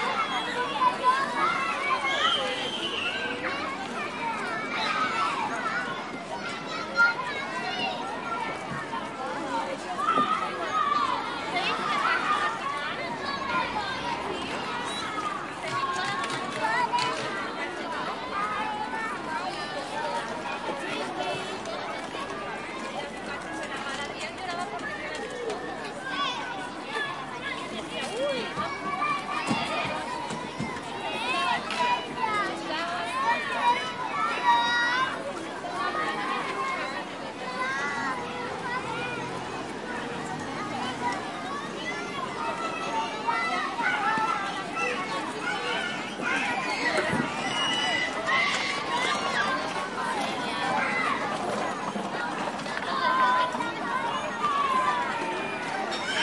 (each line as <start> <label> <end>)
0.0 Parents 56.2
0.0 children 56.2